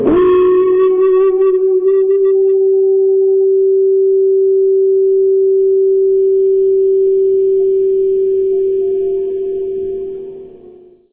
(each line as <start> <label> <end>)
0.0 Guitar Feedback 11.1